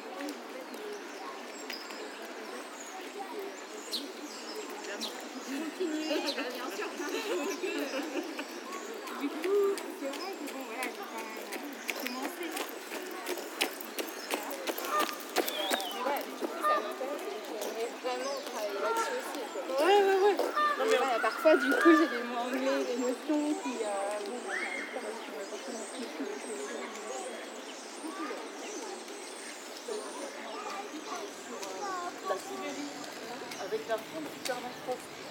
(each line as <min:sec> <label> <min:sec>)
0:00.0 Traffic outside of the parc 0:35.3
0:00.1 snatches of jogger's conversations 0:35.3
0:00.2 chirp of the bird in the woods 0:35.3